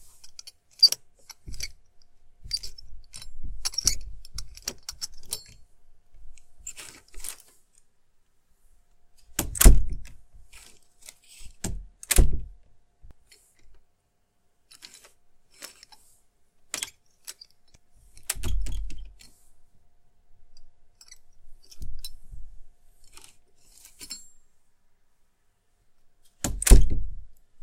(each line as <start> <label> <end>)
2.4 creak 5.5
2.4 Metallic doorknob 5.6
9.3 door shutting 10.1
11.4 door shutting 12.5
18.2 Metallic doorknob 19.2
26.4 door shutting 27.1
26.4 Metallic doorknob 27.2